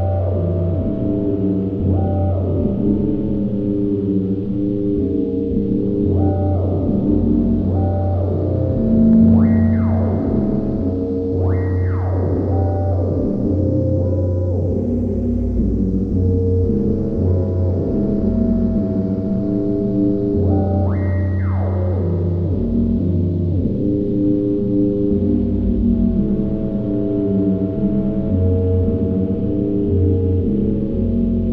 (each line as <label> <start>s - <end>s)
Sequenced Sine FM 0.0s - 31.5s